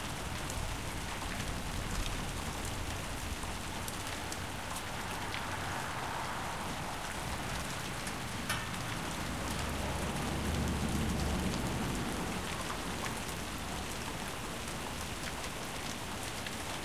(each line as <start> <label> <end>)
0.0 Rain 16.8
4.8 cars driving by 12.9